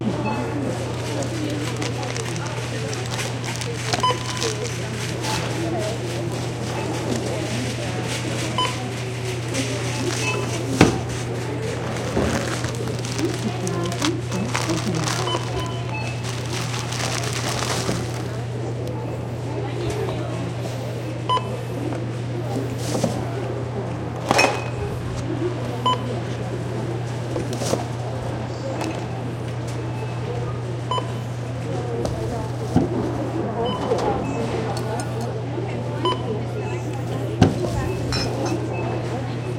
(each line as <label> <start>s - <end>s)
self-service check-out 0.0s - 39.5s
cash register 0.4s - 4.9s
receipt printer sound 0.6s - 4.9s
receipt printer sound 11.9s - 18.2s